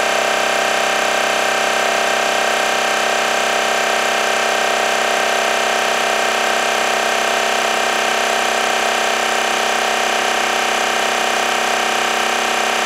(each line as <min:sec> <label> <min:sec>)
0:00.0 portable 12V compressor pumping air into a tire 0:12.8